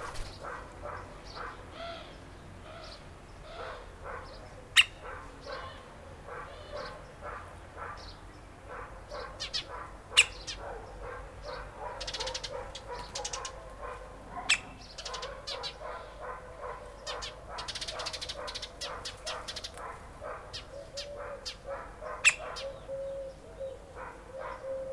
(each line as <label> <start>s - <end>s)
Birds 0.0s - 24.9s